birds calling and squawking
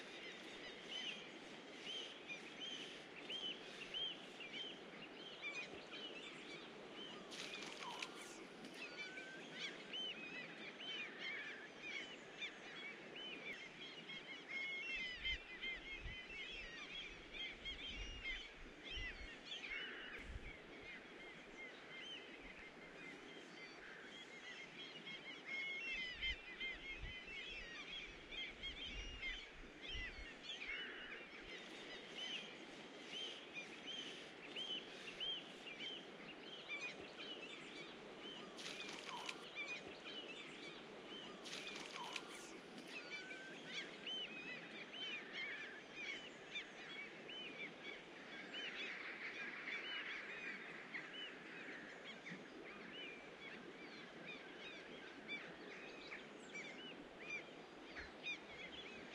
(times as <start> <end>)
36.9 44.0